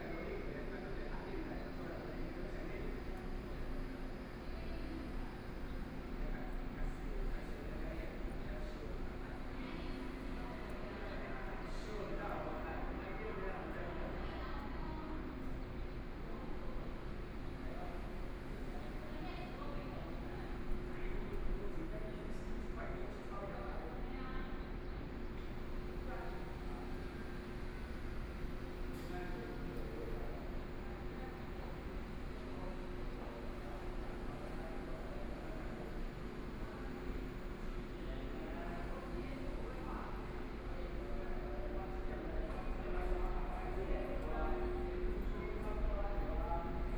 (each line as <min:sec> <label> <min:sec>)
0:00.0 train arrived at the station 0:46.9